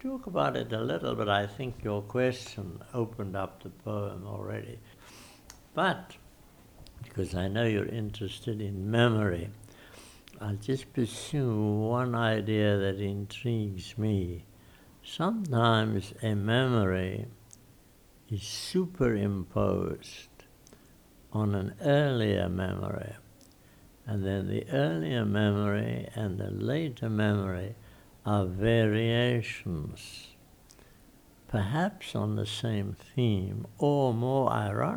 0.0s freedom fighter talks 5.0s
5.7s freedom fighter talks 6.2s

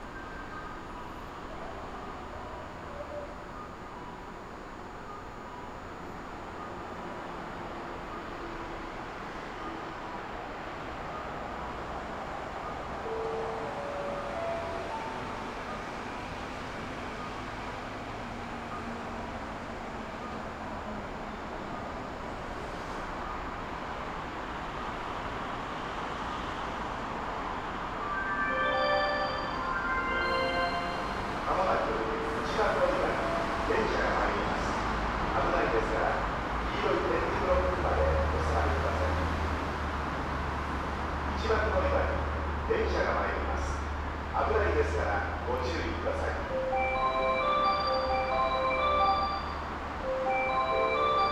25.6s fast train passing 42.7s

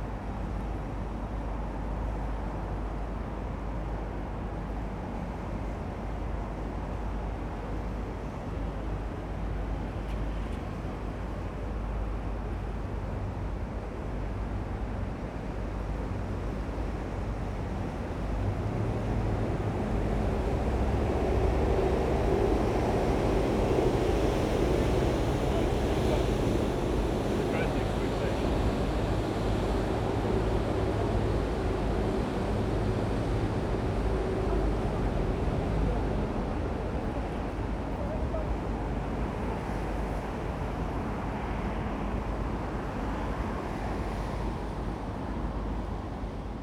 0.0s faint river 46.6s
0.4s passing river taxi 46.6s
17.7s traffic 46.4s

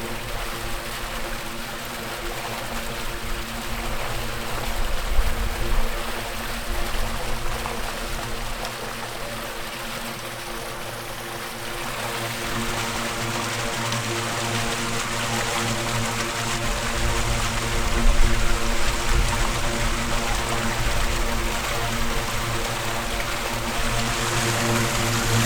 0.0s waterstream 25.4s

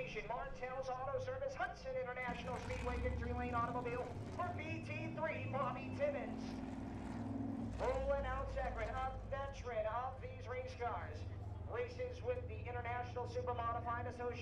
0.0s Supermodified Feature Race 14.4s

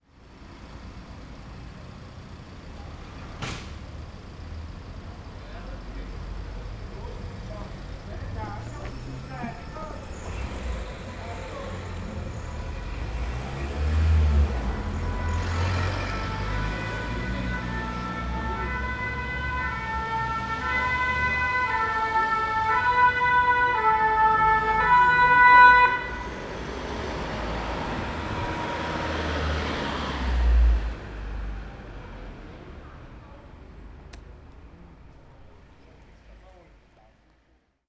8.3s siren of an approaching ambulance 32.3s

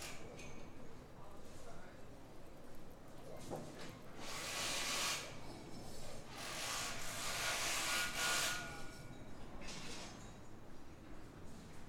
0.0s builders completing the frame of a modern wooden house 11.8s

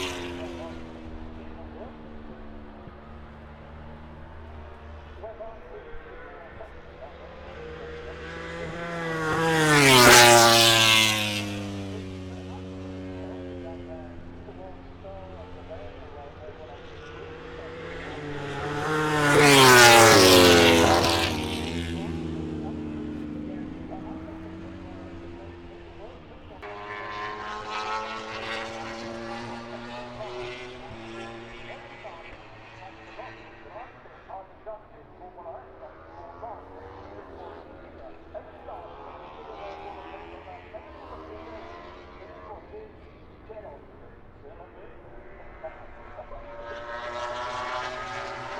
0.0s moto grand prix 48.5s

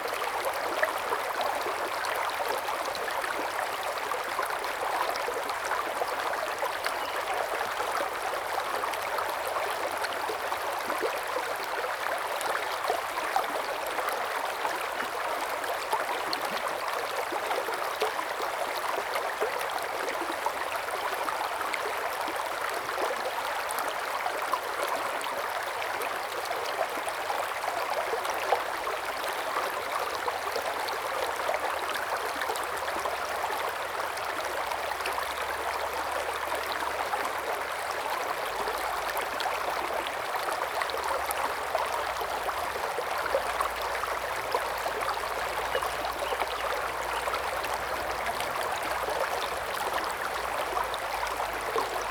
0.0s Stream 52.1s

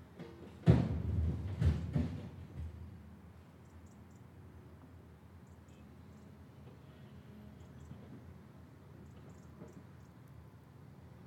0.0s Loading rubble and bits of old building into a lorry 3.0s

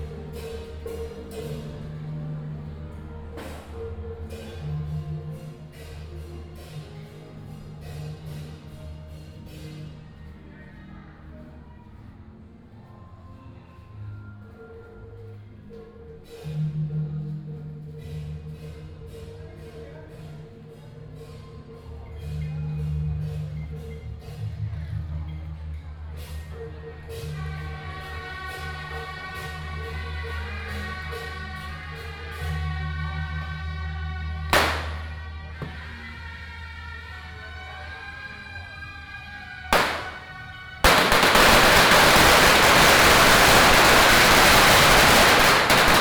34.6s Firecrackers 35.9s
39.7s walking in the Street 46.0s
39.8s Firecrackers 46.0s

